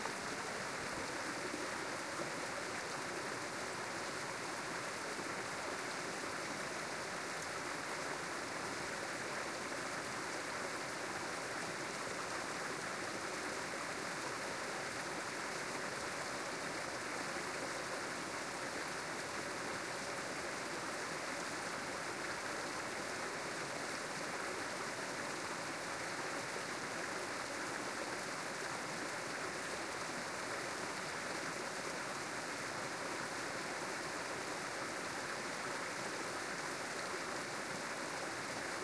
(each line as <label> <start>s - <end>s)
stream 0.0s - 38.8s